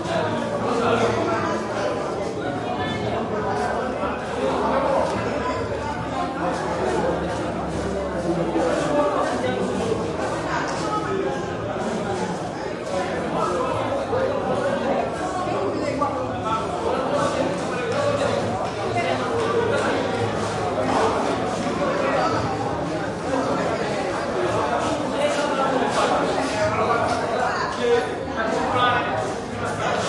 0.0s crowd int medium school busy activity 30.0s

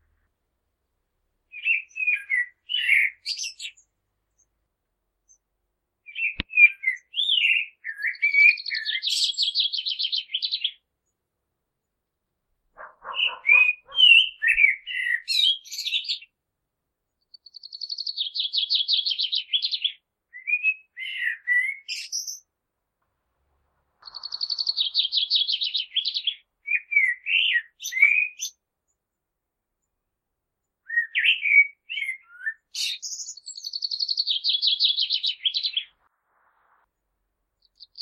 1.5s Blackbird spring song 4.6s
5.2s Blackbird spring song 11.2s
12.8s Blackbird spring song 16.4s
17.1s Blackbird spring song 22.5s
24.0s Blackbird spring song 29.0s
30.6s Blackbird spring song 36.1s
37.5s Blackbird spring song 38.0s

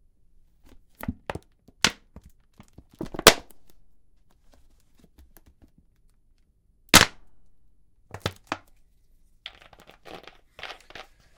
8.1s empty plastic bottle 8.7s
9.5s empty plastic bottle 11.3s

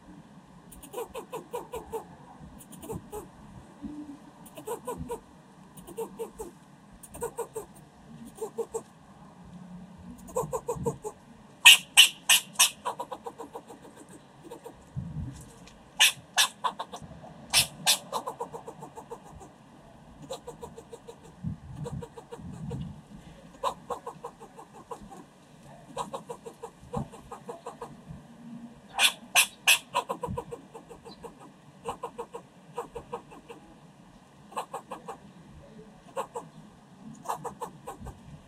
0.7s Barking Squirrel 3.3s
4.4s Barking Squirrel 5.2s
5.8s Barking Squirrel 8.9s
10.2s Barking Squirrel 14.8s
16.0s Barking Squirrel 19.5s
20.2s Barking Squirrel 22.8s
23.6s Barking Squirrel 25.2s
25.9s Barking Squirrel 28.0s
28.9s Barking Squirrel 33.6s
34.5s Barking Squirrel 35.2s
36.1s Barking Squirrel 36.5s
37.2s Barking Squirrel 38.2s

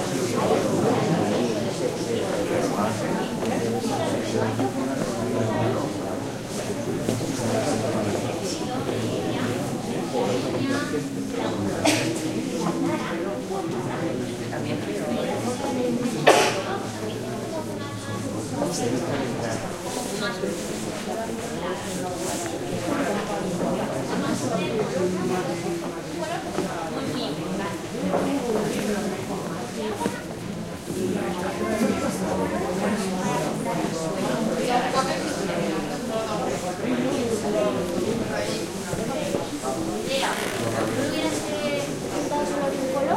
0.0s murmurs of people 43.1s

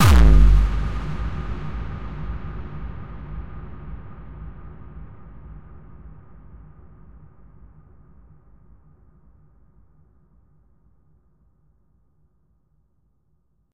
0.0s bassdrum 4.6s

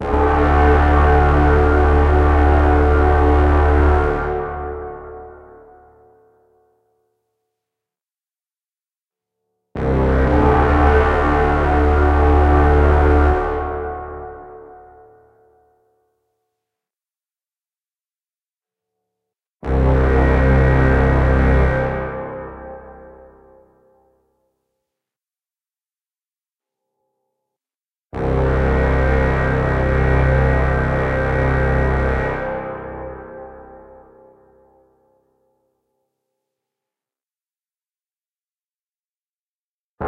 0.0s Warrior Horn 5.7s
9.8s Warrior Horn 15.0s
19.6s Warrior Horn 23.2s
28.2s Warrior Horn 34.3s

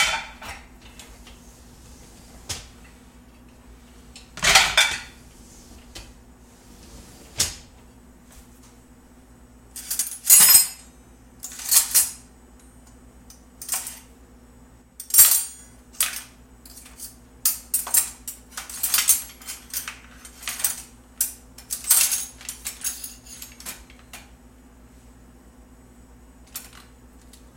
4.4s opening the dishwasher 5.2s
6.7s opening the dishwasher 7.7s

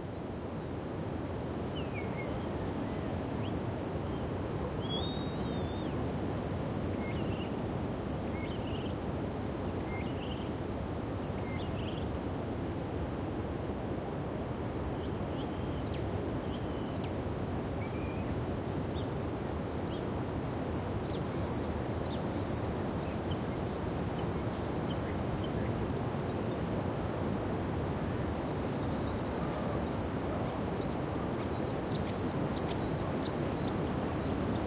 0.0s wind 34.6s
14.3s birds 34.6s

